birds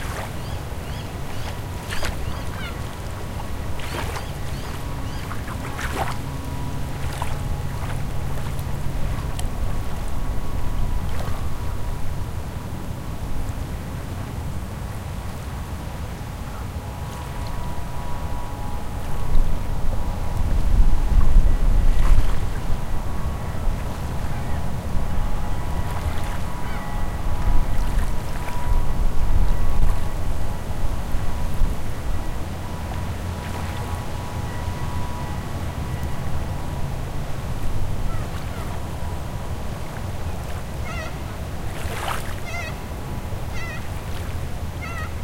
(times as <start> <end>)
0.0 6.2, 43.5 44.0, 44.8 45.2